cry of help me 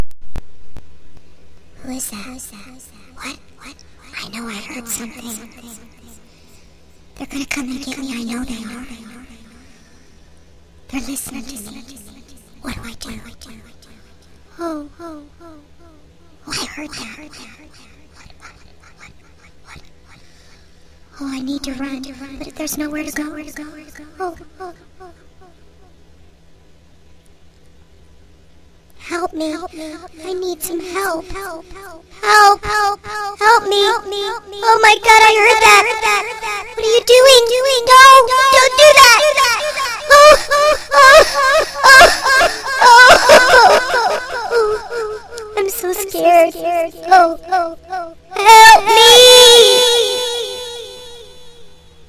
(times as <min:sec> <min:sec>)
0:38.4 0:45.6, 0:47.6 0:51.7